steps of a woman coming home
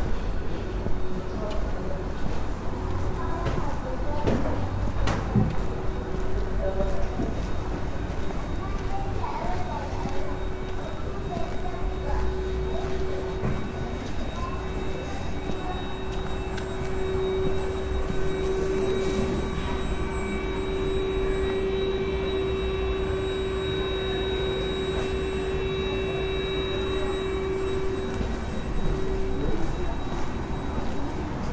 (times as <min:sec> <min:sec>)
0:01.5 0:21.0